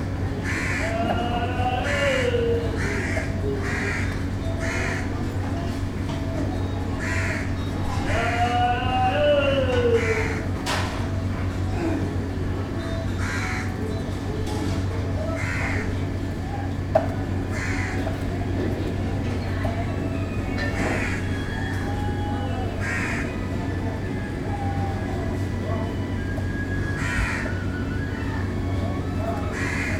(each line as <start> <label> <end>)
0.0 machines 29.9
0.6 human activity 13.0